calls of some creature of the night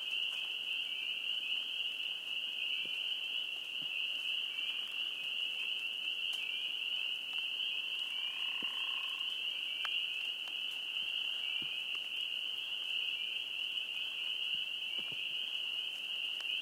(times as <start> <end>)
8.0 9.9